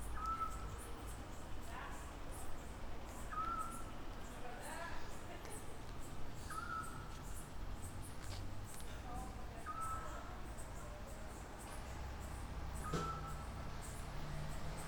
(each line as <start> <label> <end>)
11.6 cars 14.8